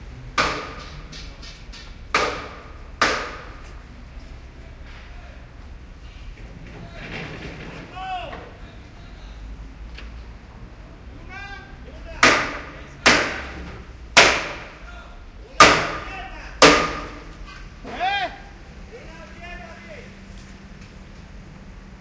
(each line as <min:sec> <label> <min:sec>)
0:00.3 bangs 0:03.7
0:06.3 bangs 0:08.7
0:12.0 bangs 0:18.3